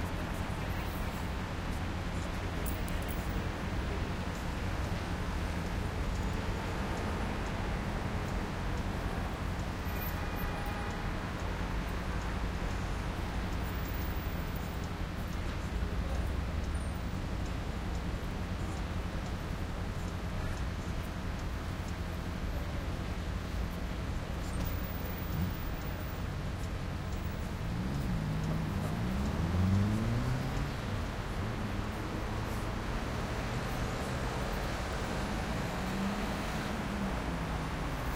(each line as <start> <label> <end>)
0.0 medium noise pedestrians 38.1
0.0 medium velocity cars 38.1
0.0 motorcycle 38.1
11.2 brakes 38.1